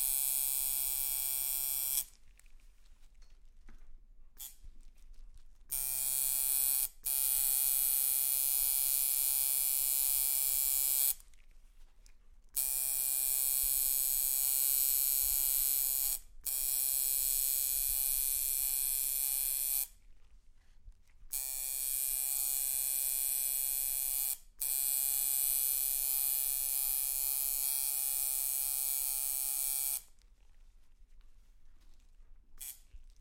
Tattoo maschine 0.0 - 2.2
Tattoo maschine 4.4 - 4.7
Tattoo maschine 5.7 - 11.2
Tattoo maschine 12.6 - 20.0
Tattoo maschine 21.3 - 30.2
Tattoo maschine 32.6 - 32.9

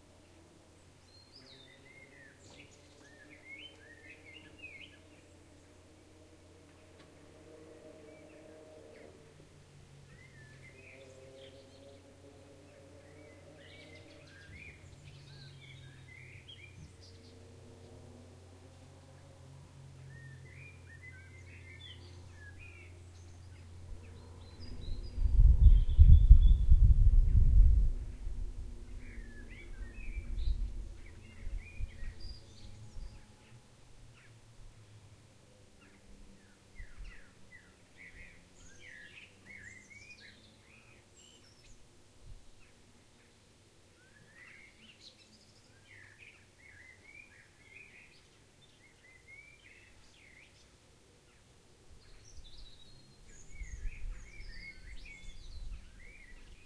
traffic 0.0 - 25.3
Birdsong 0.0 - 56.6
wind 0.0 - 56.6
traffic 27.9 - 41.2

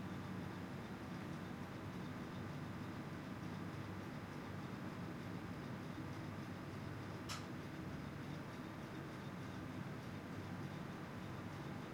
loud fan 0.0 - 11.9

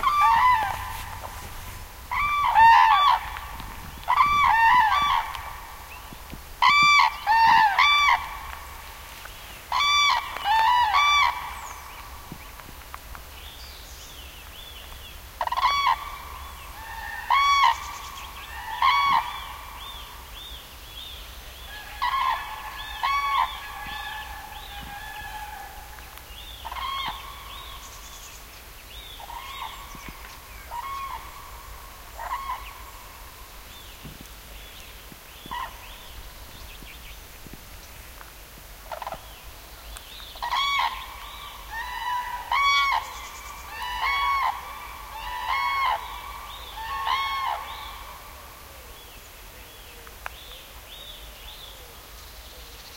birds 0.0 - 52.9

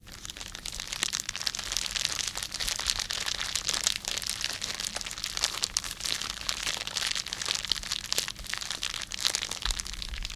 Crackling Fire1 0.0 - 10.3

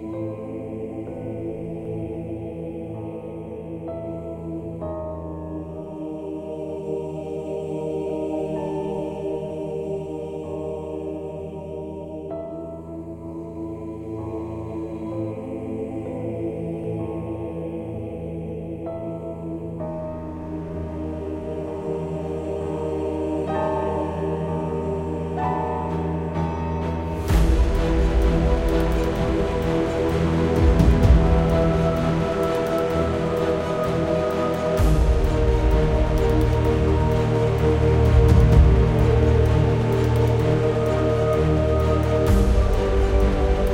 string 0.0 - 43.7
bass 12.8 - 43.7
percussions 26.8 - 43.7

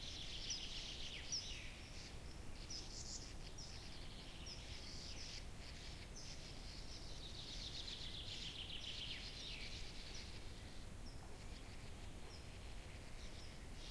nature sounds 0.0 - 13.9

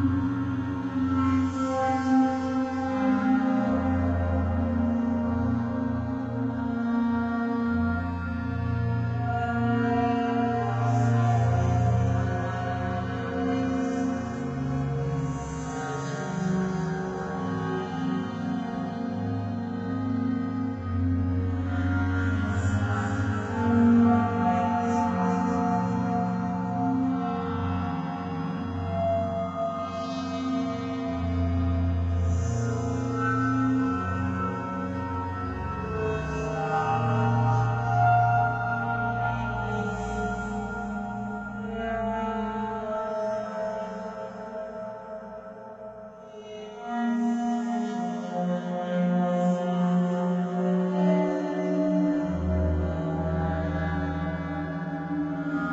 drone 0.0 - 55.7

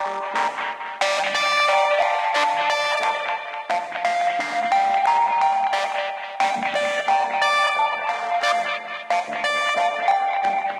Rhodes Riff Skank Dirty 0.0 - 10.7

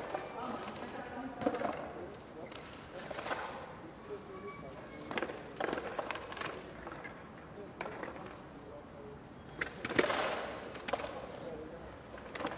Crowded Skatepark 0.0 - 12.5

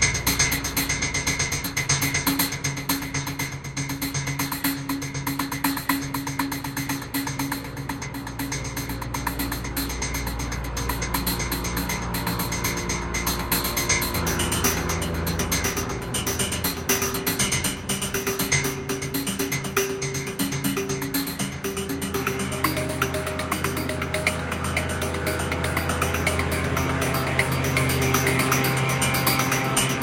drone 0.0 - 30.0
drum 0.0 - 30.0

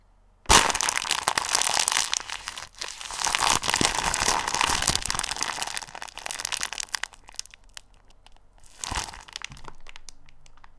Bones crunch 0.5 - 10.7

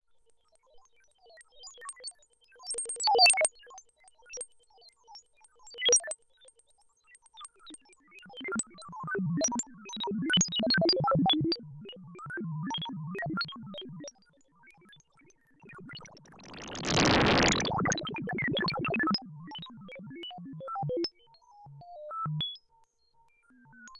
synthesizer 15.7 - 19.0

